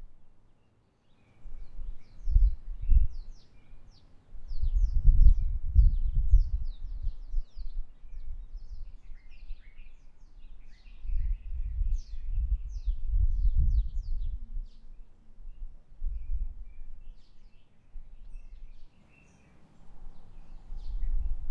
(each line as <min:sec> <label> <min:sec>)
0:00.3 birds 0:21.5